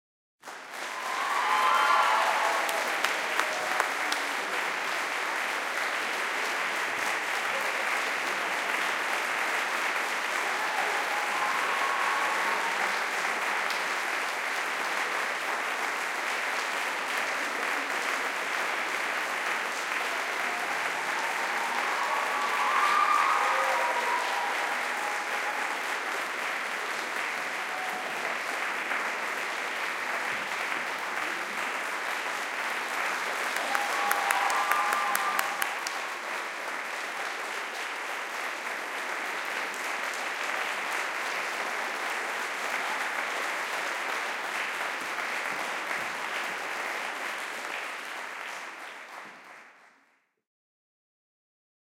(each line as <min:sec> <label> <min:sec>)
0:00.5 cheering 0:49.5